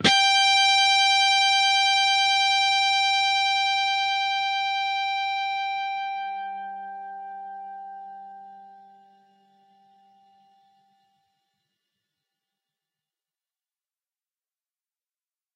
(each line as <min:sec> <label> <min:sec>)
0:00.0 distorted guitar 0:11.0